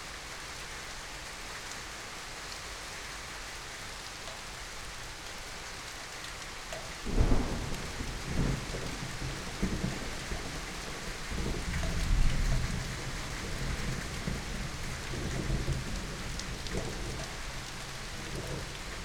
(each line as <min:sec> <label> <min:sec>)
0:00.0 Rain 0:19.0
0:07.0 Thunderstorm 0:17.3
0:18.2 Thunderstorm 0:19.0